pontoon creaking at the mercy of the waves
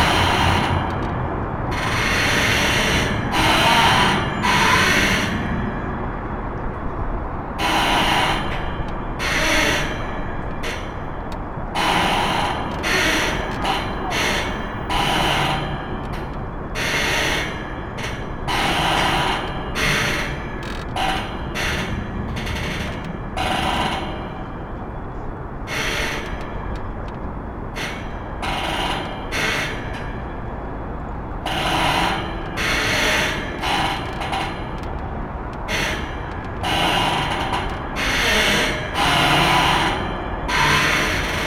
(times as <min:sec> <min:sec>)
0:17.4 0:24.4, 0:31.5 0:40.0